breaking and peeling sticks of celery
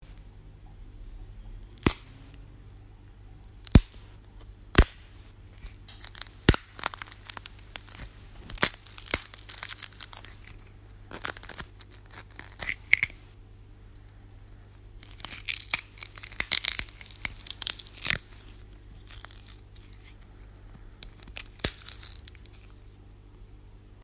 0:01.6 0:02.4, 0:03.4 0:13.3, 0:15.0 0:22.9

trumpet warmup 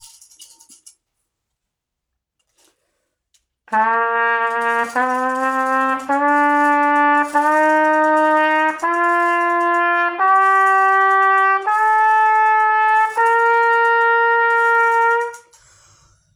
0:03.7 0:15.6

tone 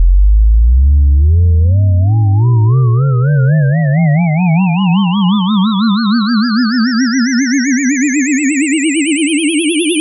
0:04.1 0:10.0

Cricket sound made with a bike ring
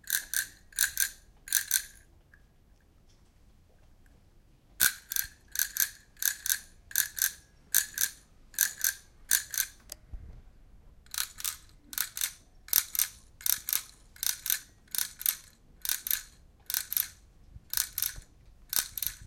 0:04.8 0:09.8

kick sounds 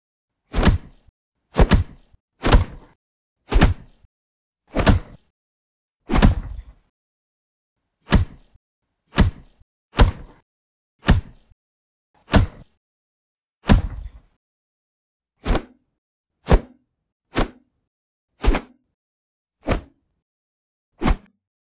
0:00.6 0:01.0, 0:01.6 0:02.8, 0:06.1 0:06.7, 0:08.1 0:08.4, 0:09.2 0:10.3, 0:13.7 0:14.2

